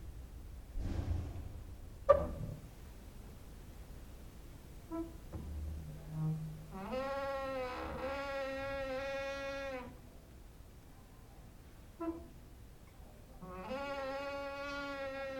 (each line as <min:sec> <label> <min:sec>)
0:04.9 creaking with wooden doors 0:10.0
0:13.4 creaking with wooden doors 0:15.3